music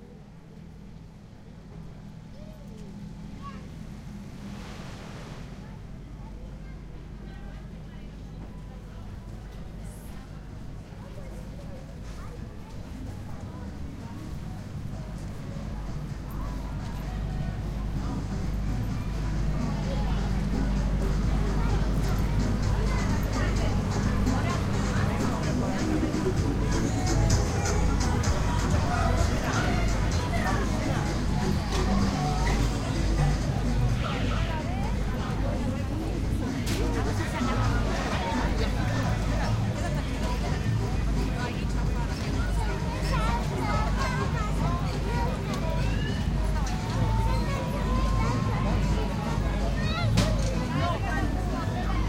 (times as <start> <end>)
12.4 52.0